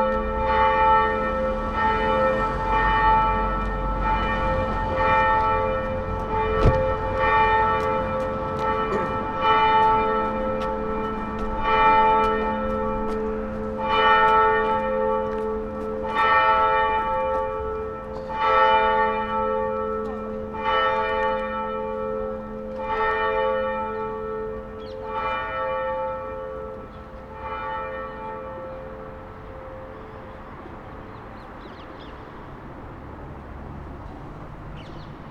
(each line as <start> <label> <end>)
0.0 bells 32.2